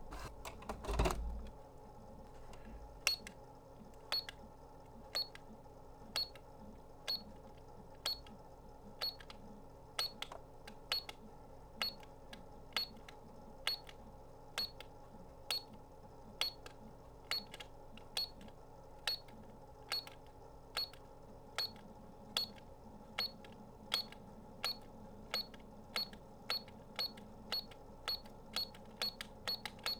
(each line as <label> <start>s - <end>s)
Toy barcode scanner with electronic beeps 4.1s - 4.4s
Toy barcode scanner with electronic beeps 5.1s - 5.4s
Toy barcode scanner with electronic beeps 6.2s - 6.4s
Toy barcode scanner with electronic beeps 7.0s - 7.4s
Toy barcode scanner with electronic beeps 8.0s - 8.3s
Toy barcode scanner with electronic beeps 9.0s - 9.3s
Toy barcode scanner with electronic beeps 10.0s - 10.3s
Toy barcode scanner with electronic beeps 10.9s - 11.2s
Toy barcode scanner with electronic beeps 11.8s - 12.1s
Toy barcode scanner with electronic beeps 12.7s - 13.1s
Toy barcode scanner with electronic beeps 13.7s - 14.0s
Toy barcode scanner with electronic beeps 14.6s - 14.8s
Toy barcode scanner with electronic beeps 15.5s - 15.7s
Toy barcode scanner with electronic beeps 16.4s - 18.4s
Toy barcode scanner with electronic beeps 19.0s - 19.3s
Toy barcode scanner with electronic beeps 19.9s - 21.0s
Toy barcode scanner with electronic beeps 21.6s - 22.6s
Toy barcode scanner with electronic beeps 23.2s - 29.9s